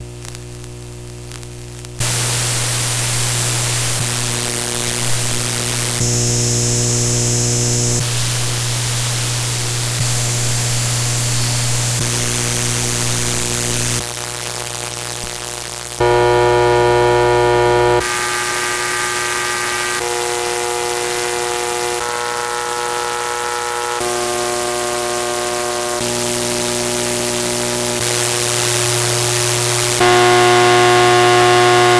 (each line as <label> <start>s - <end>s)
electromagnetic sounds captured by placing an inductor over a variety of lightbulbs 0.0s - 18.0s